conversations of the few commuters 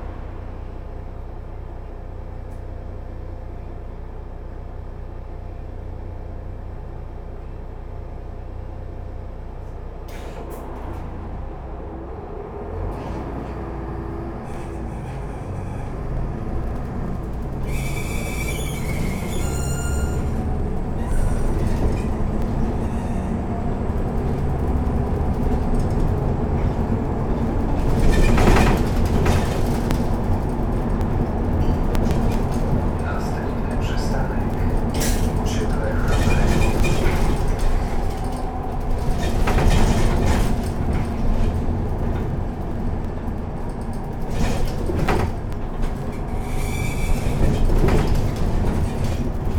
0:20.0 0:41.2

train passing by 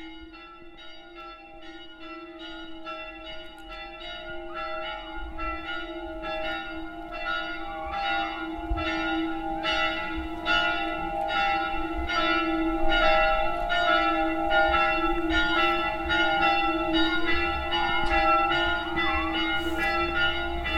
0:18.7 0:20.7

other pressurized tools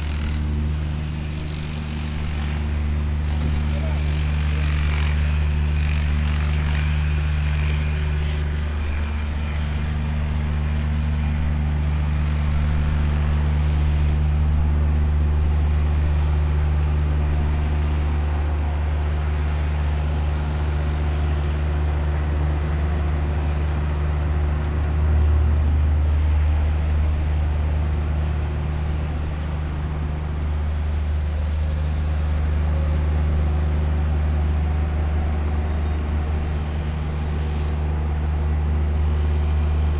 0:00.0 0:00.5, 0:01.3 0:09.6

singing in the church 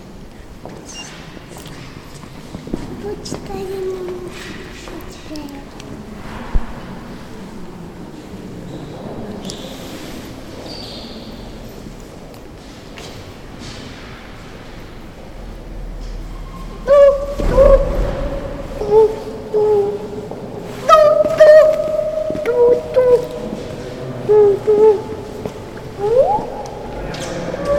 0:16.5 0:27.7

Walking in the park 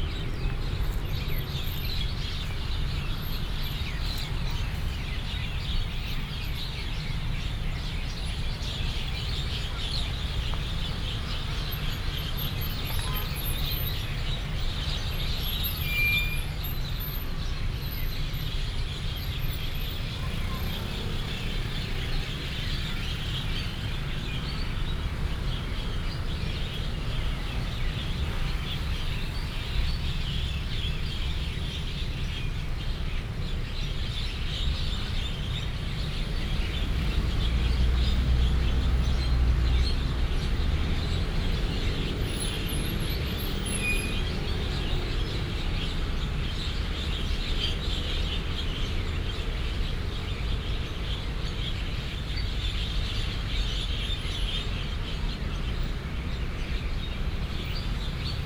0:19.0 0:39.8, 0:56.4 0:58.4

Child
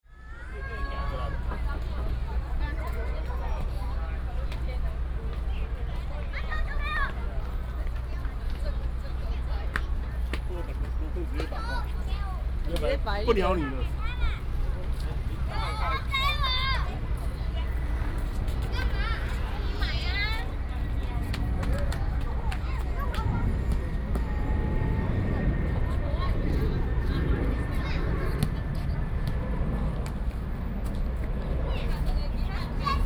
0:06.1 0:08.6, 0:15.5 0:20.6, 0:21.7 0:29.1, 0:31.4 0:33.0

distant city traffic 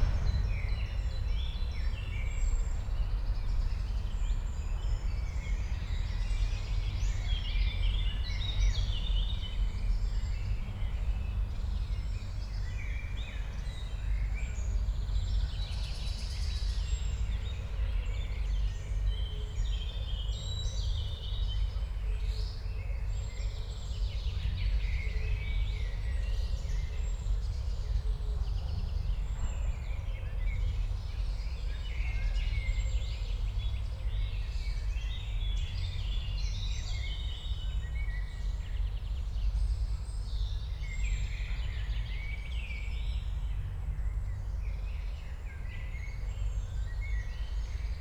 0:00.0 0:03.2

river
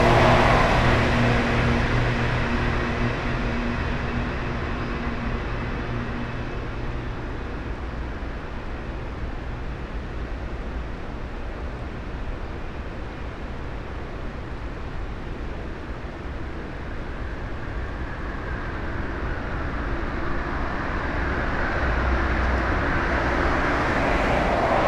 0:00.0 0:02.4, 0:19.9 0:24.8

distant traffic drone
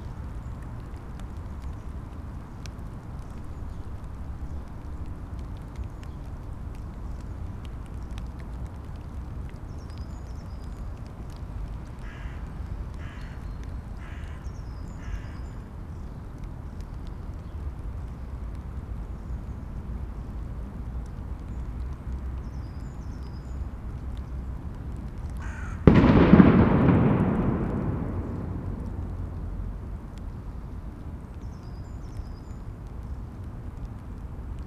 0:24.2 0:31.2

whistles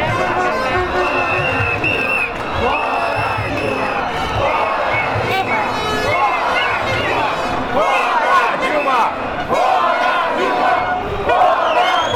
0:01.0 0:04.0, 0:11.5 0:12.1

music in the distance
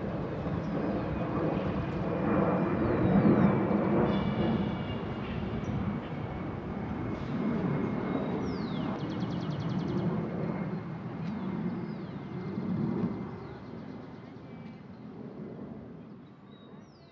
0:00.7 0:05.9

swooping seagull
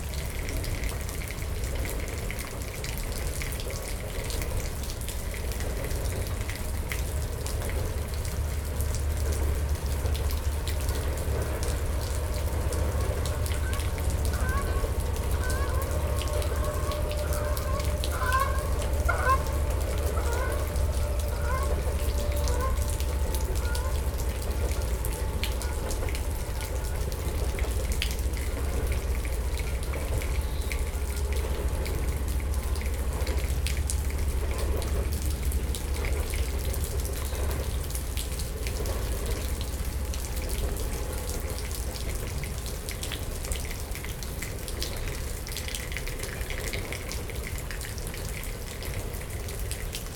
0:13.5 0:24.1

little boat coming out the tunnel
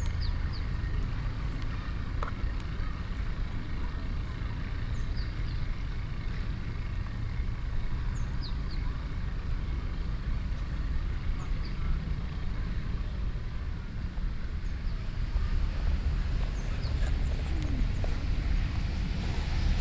0:09.1 0:19.8

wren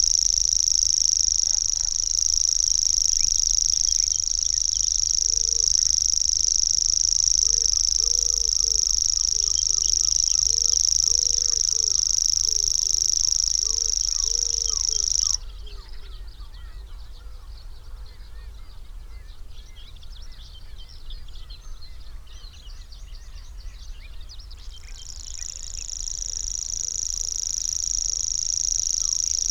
0:00.0 0:15.5, 0:24.9 0:29.5

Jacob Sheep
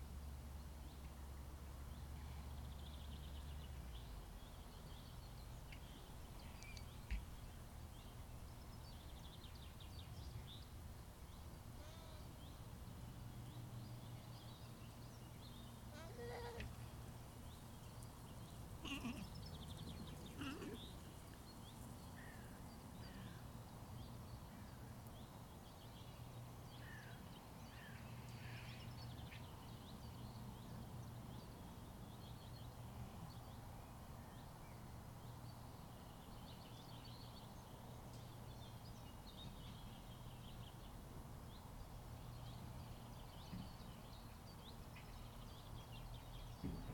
0:18.8 0:19.3

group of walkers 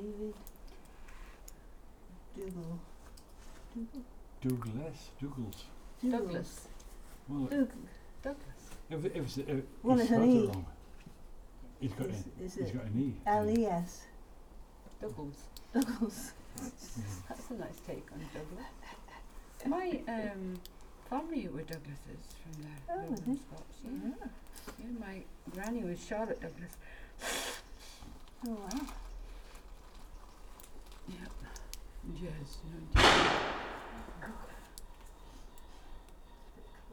0:14.6 0:36.9

